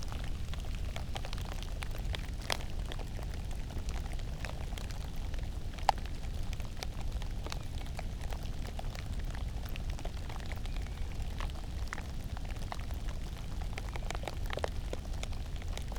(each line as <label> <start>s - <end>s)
rain on pumpkin shells 0.0s - 15.9s